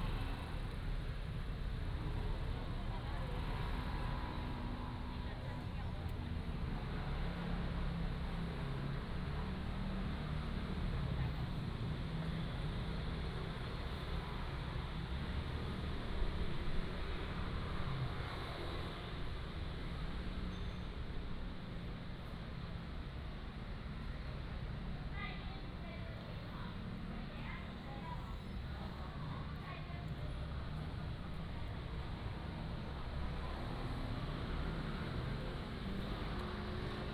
Traffic Sound 0:00.0 - 0:37.1

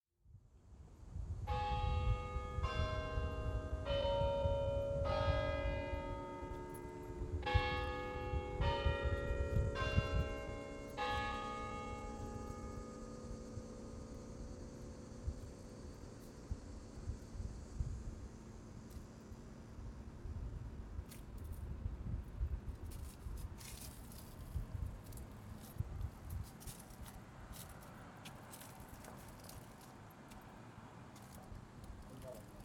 Bells ring 0:01.5 - 0:14.0
leafs crunch as people walk by 0:22.6 - 0:32.6

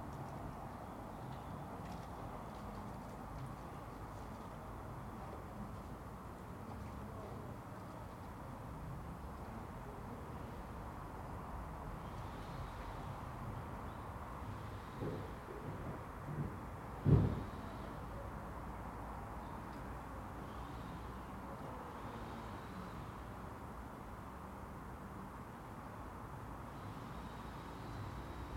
A car passes and parks 0:00.0 - 0:28.5
The metro rumbles 0:14.4 - 0:18.1

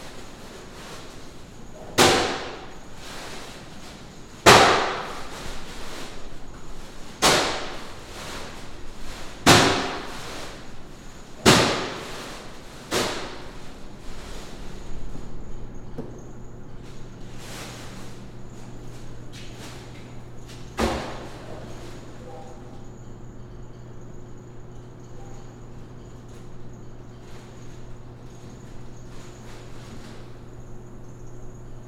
large bags of ice 0:00.0 - 0:15.3
large bags of ice 0:16.8 - 0:22.2

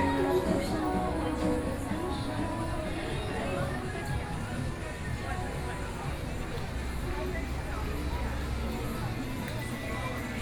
Various shops voices 0:00.0 - 0:10.4
Walking through the Night Market 0:00.0 - 0:10.4

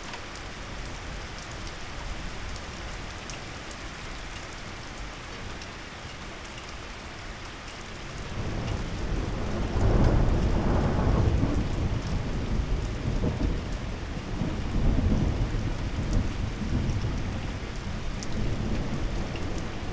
moderate thunderstorm 0:08.0 - 0:19.9

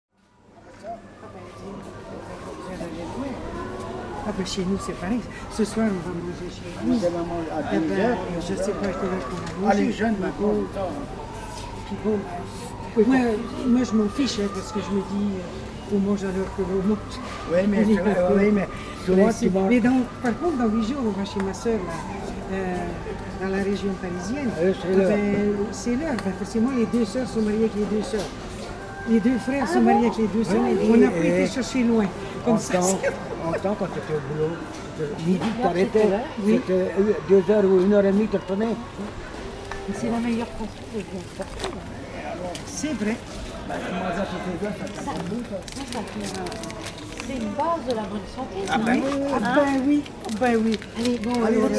clients in the supermarket 0:00.2 - 0:51.7

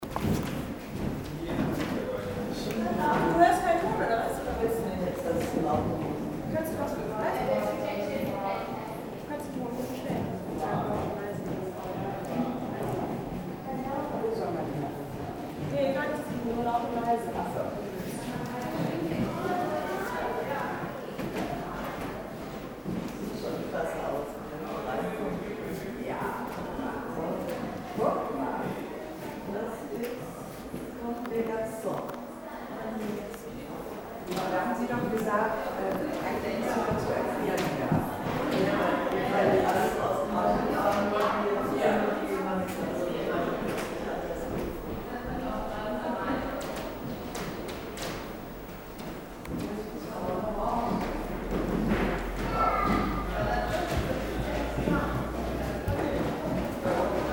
people 0:00.0 - 0:57.3

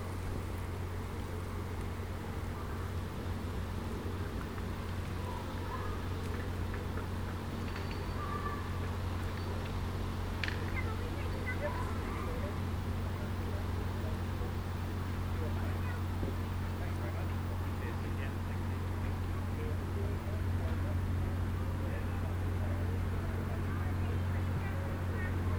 aircraft 0:00.0 - 0:25.5
people relaxing 0:00.0 - 0:25.5
pleasure boats 0:00.0 - 0:25.5
trains passing by 0:00.0 - 0:25.5
wind rustling the bushes 0:00.0 - 0:25.5

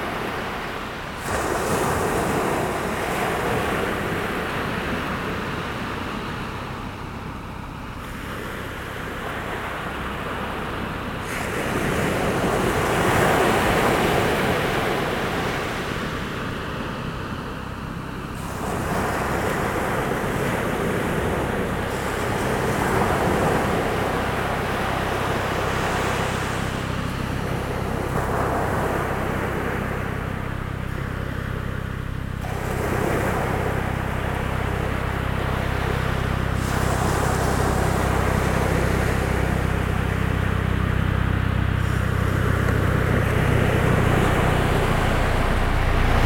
The sea 0:00.0 - 0:46.2

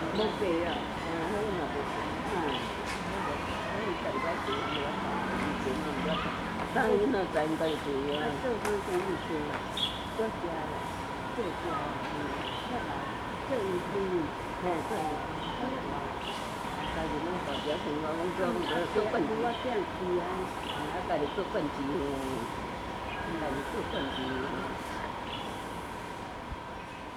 Birds singing 0:00.0 - 0:25.7
Traffic Sound 0:00.0 - 0:27.1
Birds singing 0:26.6 - 0:27.1

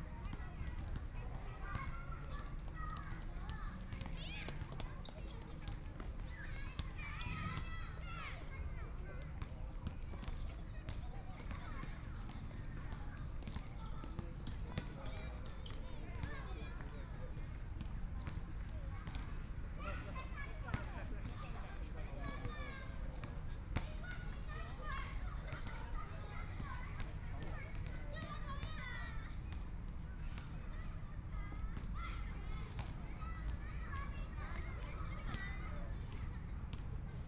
elementary school students playing basketball 0:00.0 - 0:37.2

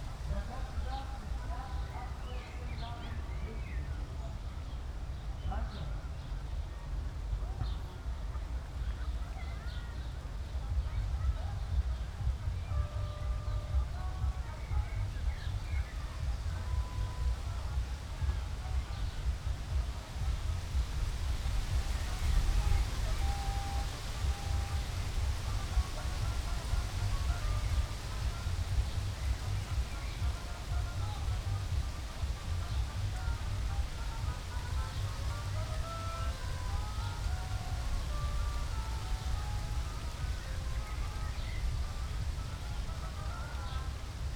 wind 0:00.0 - 0:44.3
distant music 0:10.0 - 0:44.3

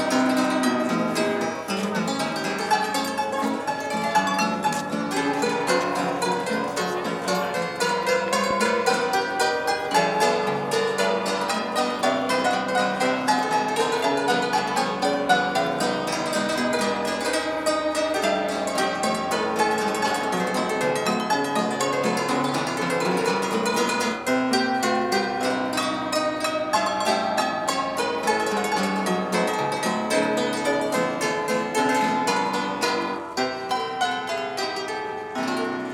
street pianola 0:00.0 - 0:35.9

